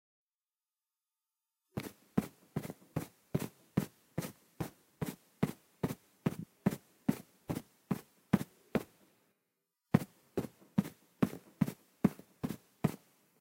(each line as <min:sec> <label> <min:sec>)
0:01.8 walk 0:08.9